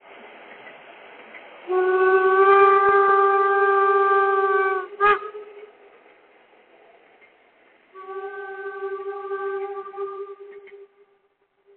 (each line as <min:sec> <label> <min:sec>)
0:00.0 Signal of a narrow-gauge steam locomotive 0:11.7